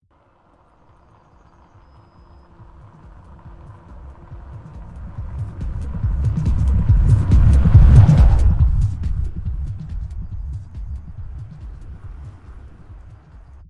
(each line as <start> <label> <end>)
2.2 bass rattling from a car trunk 13.6